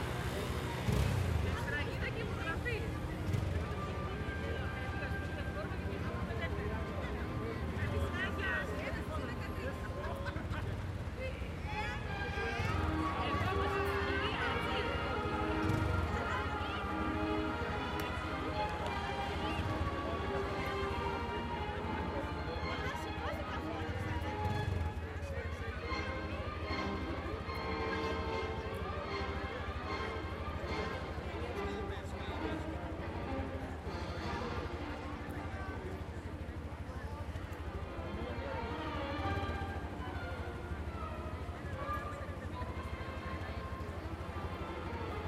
Mild traffic 0:00.0 - 0:45.2
people passing by talking 0:00.0 - 0:45.2

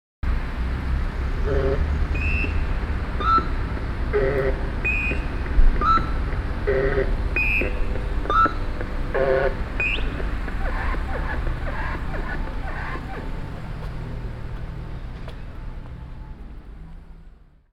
androidlike chirps & burps 0:04.2 - 0:13.3

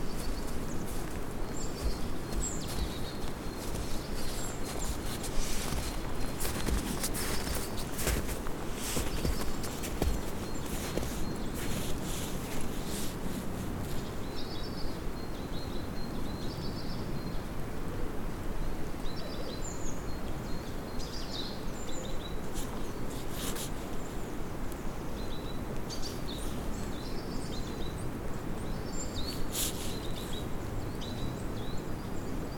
birds singing 0:00.0 - 0:13.2
footsteps in the snow 0:00.0 - 0:14.6
birds singing 0:19.0 - 0:32.5
footsteps in the snow 0:22.4 - 0:24.4
footsteps in the snow 0:29.2 - 0:30.6

